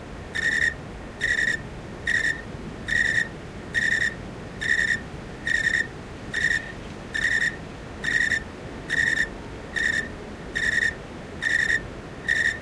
Crickets 0:00.0 - 0:12.6

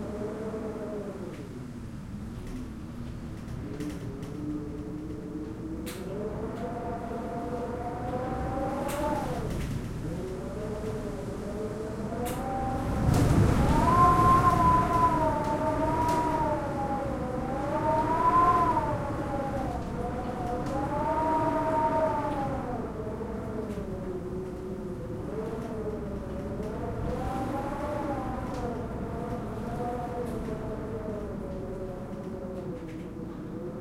wind howling 0:00.0 - 0:33.8

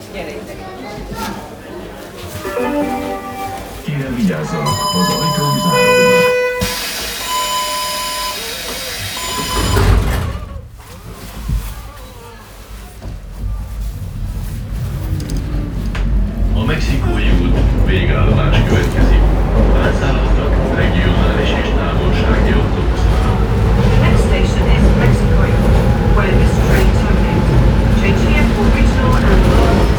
people 0:00.0 - 0:06.4
Historical subway train 0:00.0 - 0:29.9
people 0:08.0 - 0:29.9

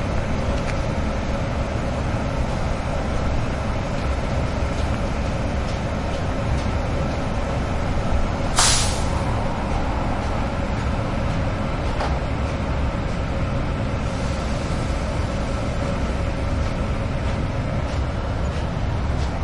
train 0:00.0 - 0:19.4

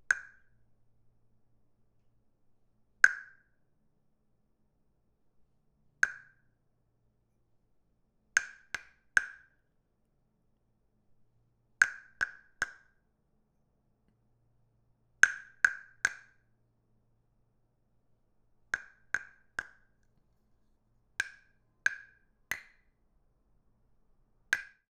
wooden stick hits wooden frog 0:00.1 - 0:00.4
wooden stick hits wooden frog 0:03.0 - 0:03.4
wooden stick hits wooden frog 0:06.0 - 0:06.4
wooden stick hits wooden frog 0:08.4 - 0:09.5
wooden stick hits wooden frog 0:11.8 - 0:12.9
wooden stick hits wooden frog 0:15.2 - 0:16.4
wooden stick hits wooden frog 0:18.7 - 0:19.9
wooden stick hits wooden frog 0:21.2 - 0:22.8
wooden stick hits wooden frog 0:24.5 - 0:24.8

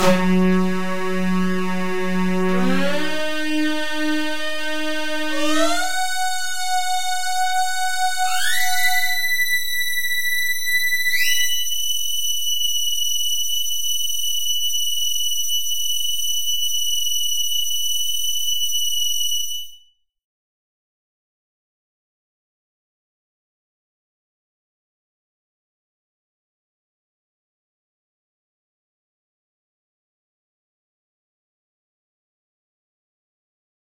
synth sound 0:00.0 - 0:09.5

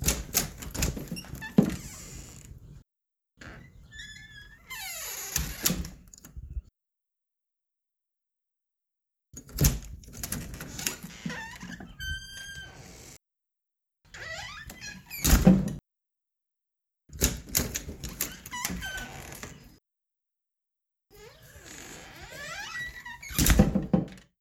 Front door open and close with squeaks 0:00.0 - 0:02.5
Front door open and close with squeaks 0:03.4 - 0:06.0
Front door open and close with squeaks 0:09.6 - 0:13.2
Front door open and close with squeaks 0:14.2 - 0:15.8
Front door open and close with squeaks 0:17.2 - 0:19.7
Front door open and close with squeaks 0:21.2 - 0:24.2

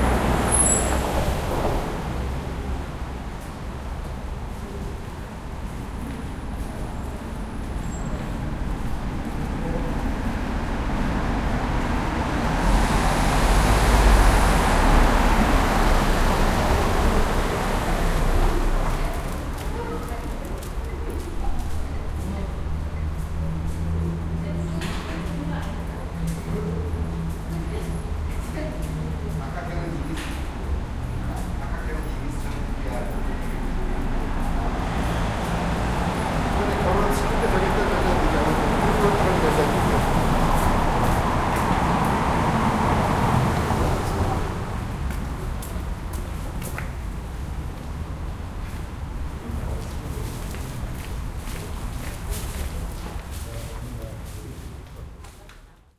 Cars 0:00.0 - 0:55.9
people walking 0:03.2 - 0:12.4
people walking 0:15.4 - 0:55.9

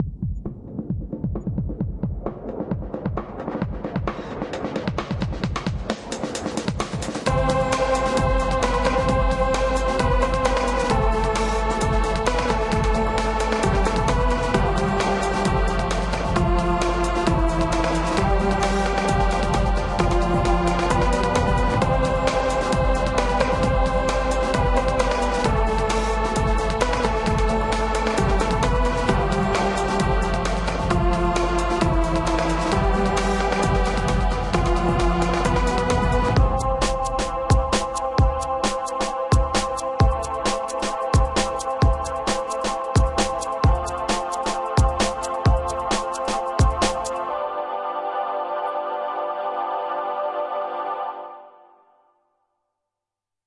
drum loops 0:00.0 - 0:47.2

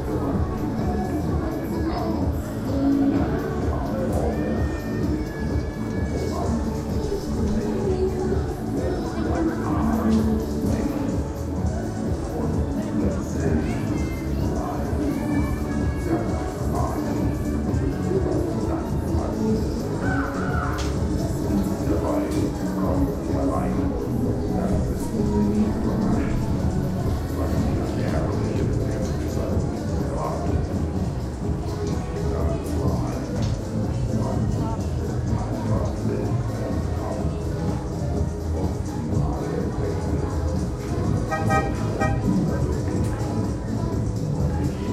early customers are milling around 0:00.0 - 0:44.9
rides are working 0:00.0 - 0:44.9

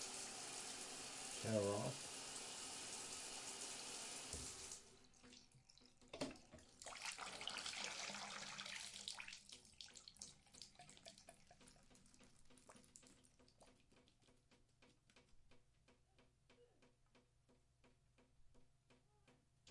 shower off 0:00.0 - 0:04.9
faucet 0:00.0 - 0:13.8

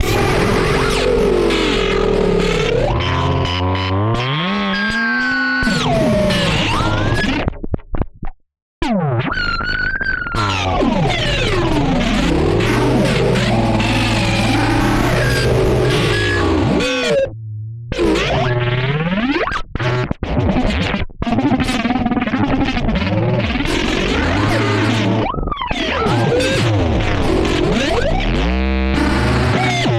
Optical Theremin 0:09.3 - 0:18.6

